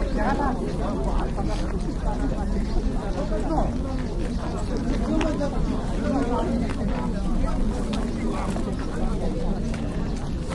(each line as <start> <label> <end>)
0.0 Many -tourist guides- wait and talk 10.5